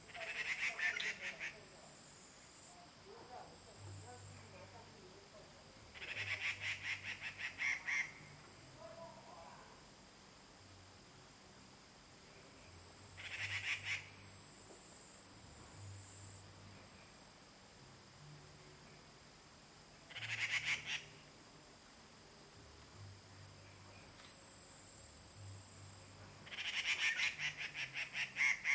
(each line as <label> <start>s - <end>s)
Birds singing in the ground 0.0s - 1.7s
Birds singing in the ground 5.9s - 8.4s
Birds singing in the ground 12.6s - 14.4s
Birds singing in the ground 20.0s - 21.3s
Birds singing in the ground 26.4s - 28.7s